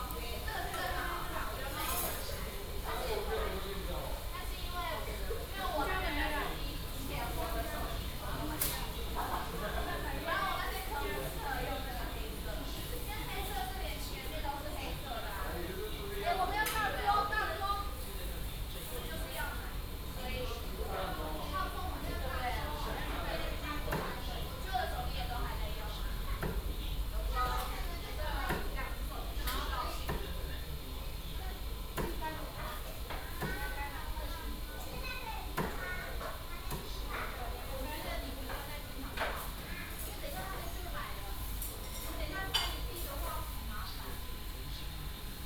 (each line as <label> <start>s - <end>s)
waiters chatted with each other 0.0s - 45.4s